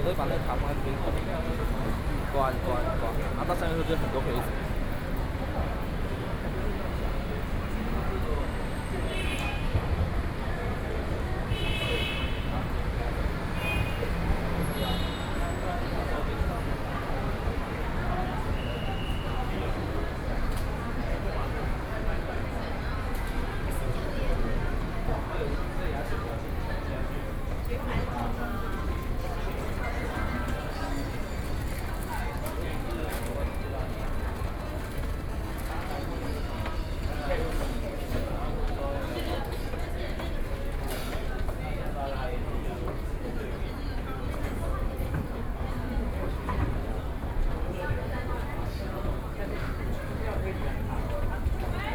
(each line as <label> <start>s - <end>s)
moving escalator 44.0s - 51.9s